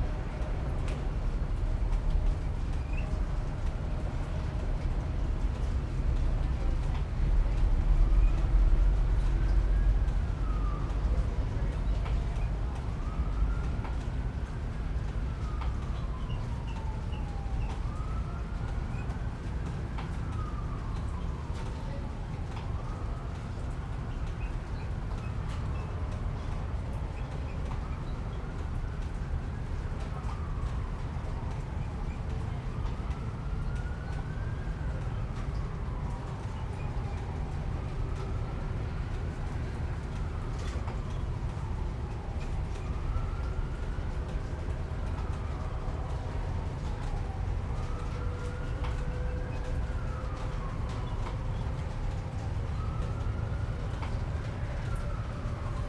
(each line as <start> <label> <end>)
0.0 Thunderstorm 55.8